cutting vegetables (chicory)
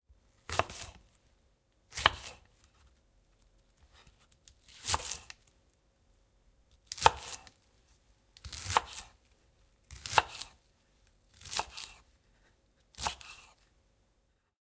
0:00.4 0:01.2, 0:01.9 0:03.0, 0:03.8 0:05.6, 0:06.7 0:07.7, 0:08.4 0:10.6, 0:11.3 0:13.6

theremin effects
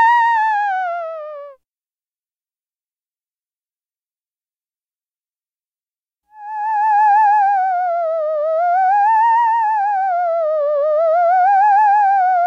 0:00.0 0:01.6, 0:06.4 0:12.4

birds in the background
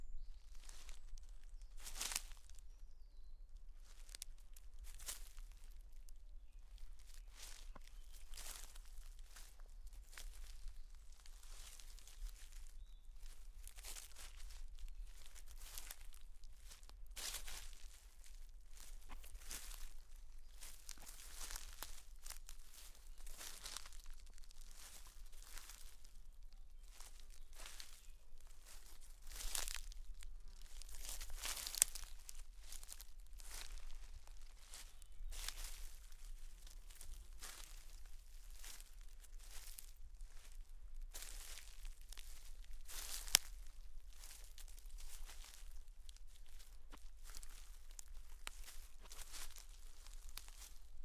0:00.0 0:17.9, 0:22.7 0:36.4

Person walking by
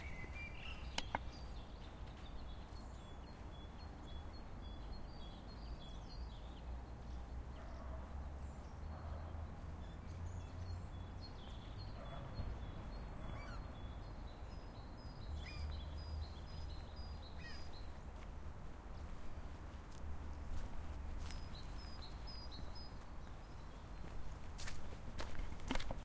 0:17.6 0:26.0

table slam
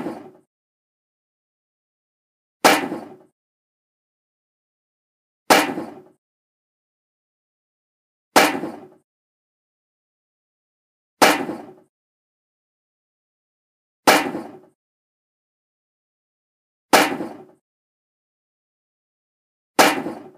0:02.7 0:03.3, 0:05.5 0:06.2, 0:08.4 0:09.0, 0:11.2 0:11.9, 0:14.1 0:14.7, 0:17.0 0:17.6, 0:19.8 0:20.3

